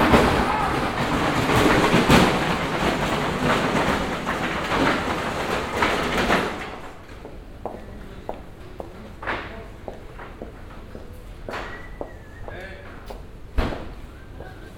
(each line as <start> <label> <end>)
0.0 transport waggon passes by and stops 7.0